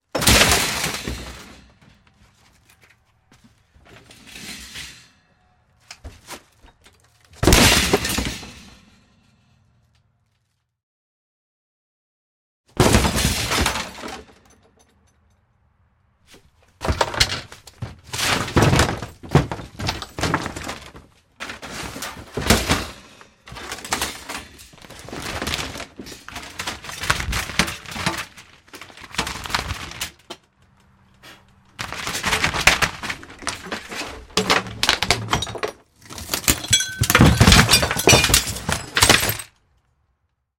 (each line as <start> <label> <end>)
0.1 axe chops smashes wood metal grill trailer 2.2
0.1 debris glass chunky 1.9
7.3 axe chops smashes wood metal grill trailer 9.1
7.4 debris glass chunky 9.0
12.7 axe chops smashes wood metal grill trailer 14.5
31.8 axe chops smashes wood metal grill trailer 39.6
31.8 debris glass chunky 39.6